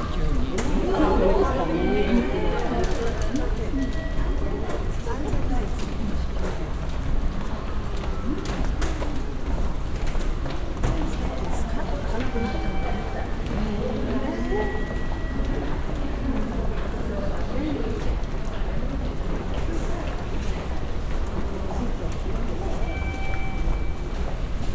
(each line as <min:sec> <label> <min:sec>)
0:00.0 passengers 0:24.7
0:01.5 regular beeping warning sign 0:05.4
0:11.6 regular beeping warning sign 0:16.3
0:22.6 regular beeping warning sign 0:24.4